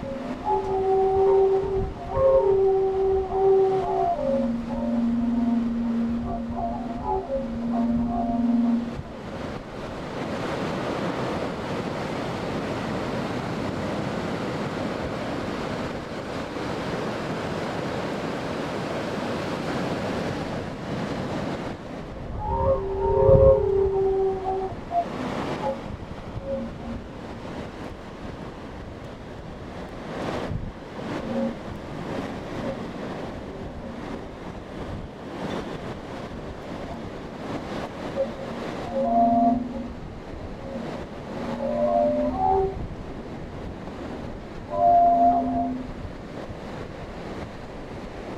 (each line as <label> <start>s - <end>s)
a lot of wind 0.0s - 48.3s